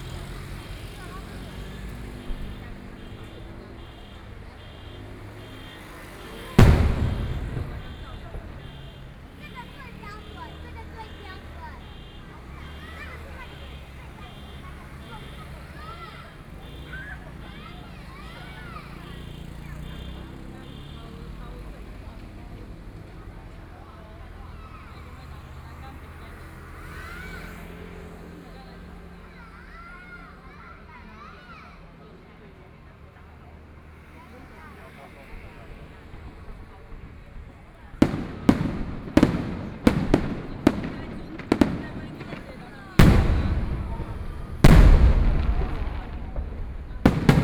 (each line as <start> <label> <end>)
0.0 fireworks 22.4
0.0 Traffic Sound 47.4
34.6 fireworks 47.4